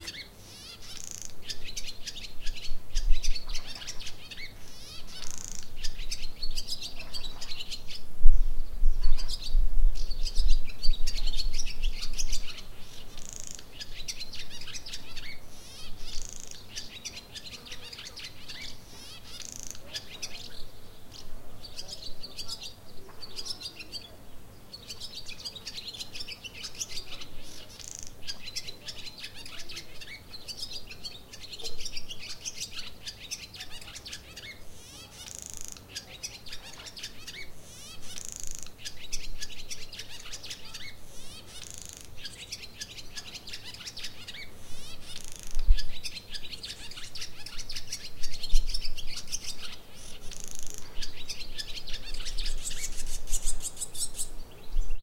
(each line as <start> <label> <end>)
0.0 birdsong 55.0